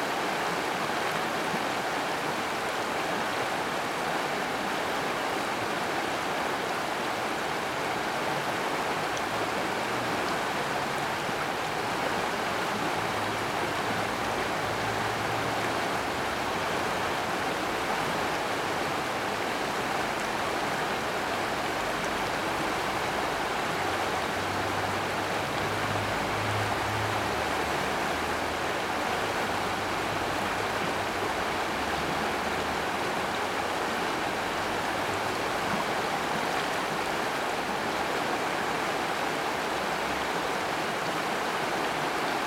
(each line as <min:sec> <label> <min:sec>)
0:00.0 River is quite high 0:42.4